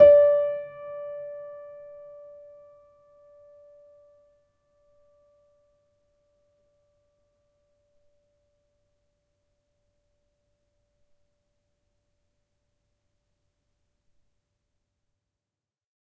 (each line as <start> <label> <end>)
0.0 upright choiseul piano 4.3